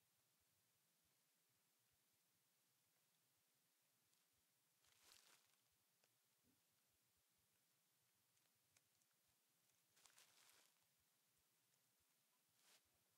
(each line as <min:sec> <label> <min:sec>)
0:10.0 Paper 0:10.8